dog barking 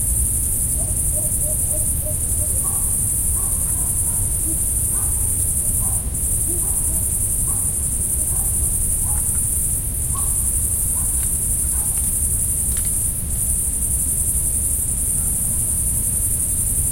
0:00.8 0:09.4, 0:10.1 0:12.1

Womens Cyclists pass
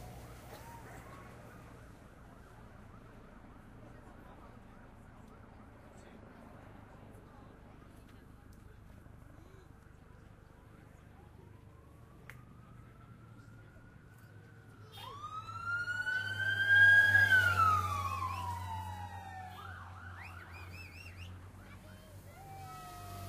0:15.1 0:23.2

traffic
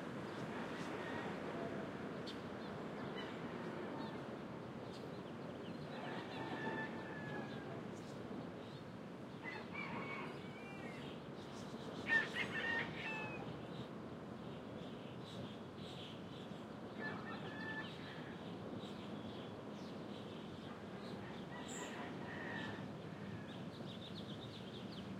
0:20.2 0:25.1

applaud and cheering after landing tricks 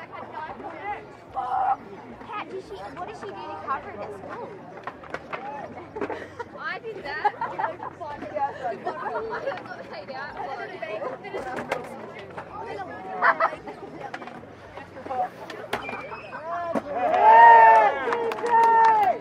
0:15.8 0:19.2

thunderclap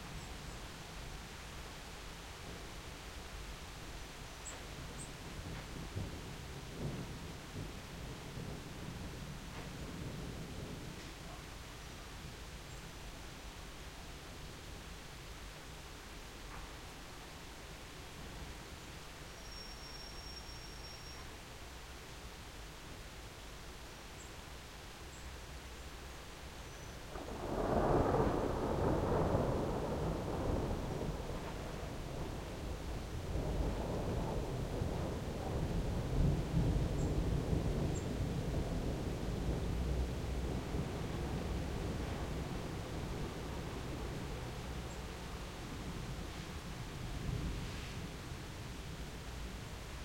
0:05.3 0:11.1, 0:27.1 0:49.0

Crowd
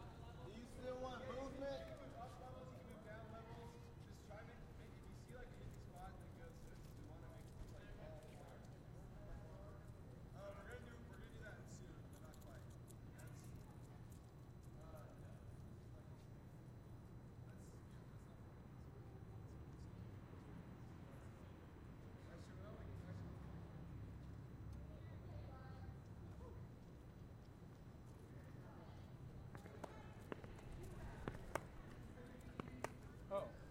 0:00.0 0:04.4

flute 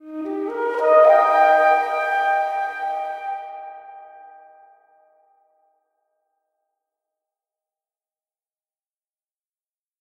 0:00.0 0:05.3

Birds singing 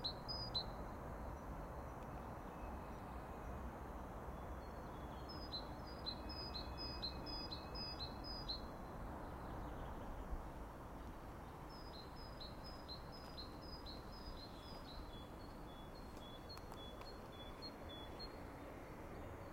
0:04.4 0:10.3, 0:11.4 0:19.5

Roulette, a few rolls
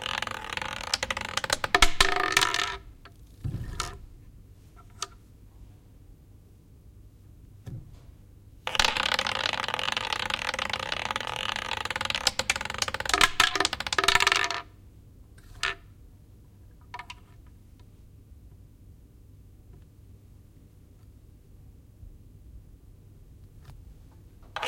0:00.0 0:05.3, 0:08.7 0:14.7, 0:15.4 0:15.9, 0:23.4 0:24.6

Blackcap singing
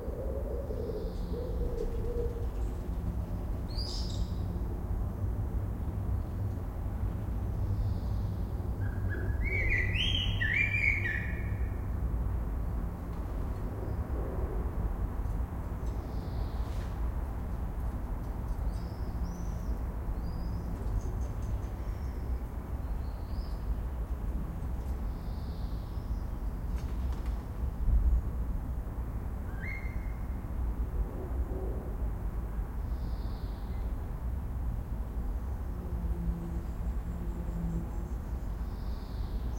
0:09.4 0:11.5

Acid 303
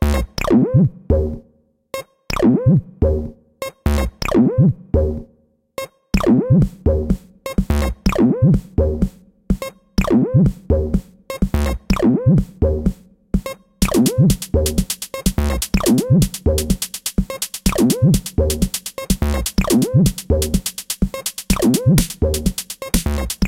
0:13.8 0:23.4

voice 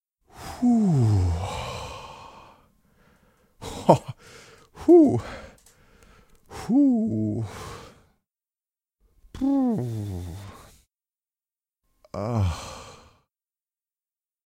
0:03.6 0:04.2, 0:04.8 0:05.5, 0:06.5 0:07.5, 0:09.4 0:10.7

